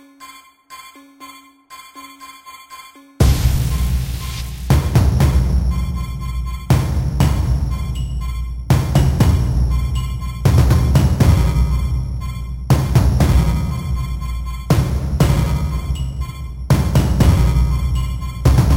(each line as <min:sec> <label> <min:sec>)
0:00.0 horror movie style music 0:18.7